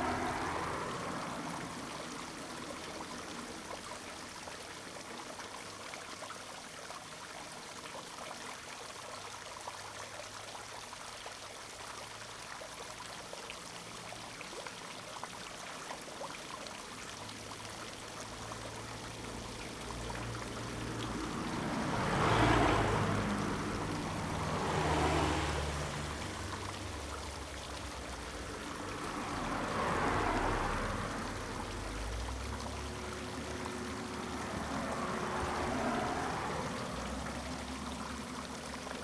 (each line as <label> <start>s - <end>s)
Traffic Sound 0.0s - 4.3s
Traffic Sound 16.8s - 39.0s